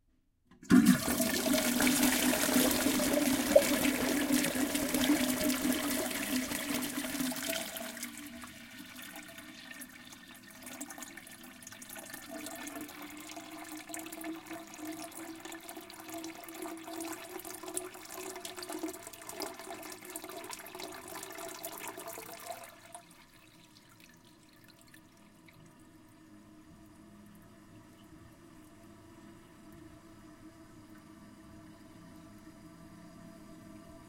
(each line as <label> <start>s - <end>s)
Toilet flush recorded inside the toilet bowl 0.5s - 34.0s
toilet refilling 0.6s - 25.7s